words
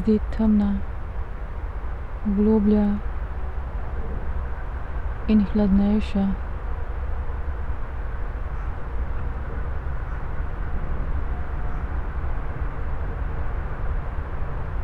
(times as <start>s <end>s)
0.0s 0.8s, 2.2s 3.0s, 5.3s 6.4s